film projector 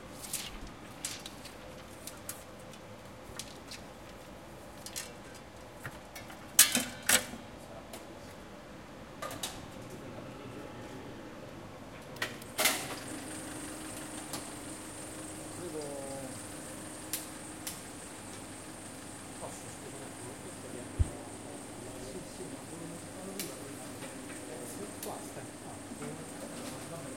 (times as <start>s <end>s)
12.2s 20.8s